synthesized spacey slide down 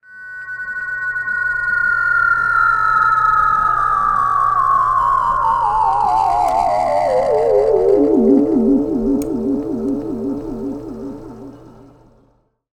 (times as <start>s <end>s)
3.7s 12.2s